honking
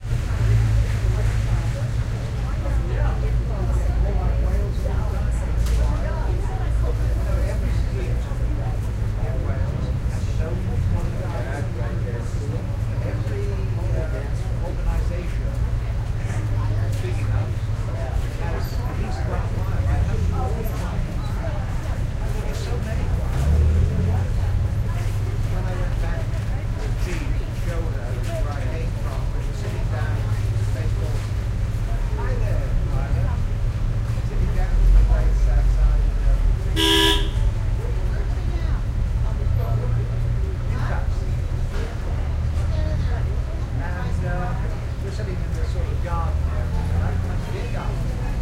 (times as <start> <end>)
36.8 37.5